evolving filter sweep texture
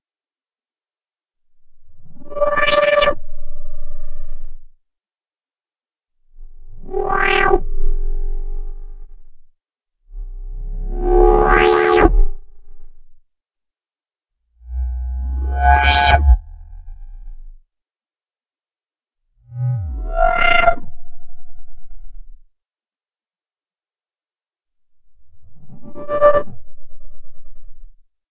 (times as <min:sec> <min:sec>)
0:14.6 0:17.6, 0:19.5 0:21.5